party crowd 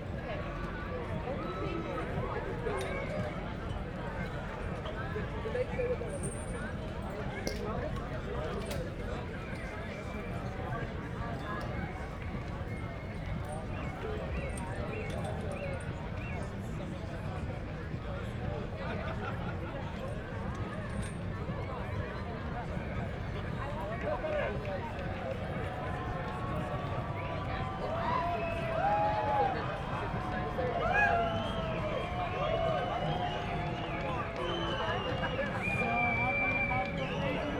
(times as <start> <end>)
22.2 37.5